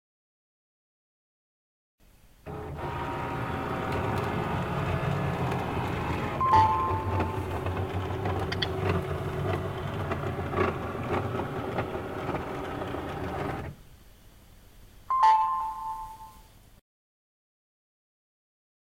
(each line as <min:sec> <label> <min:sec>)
0:02.5 humming of a printer while scanning a document 0:13.8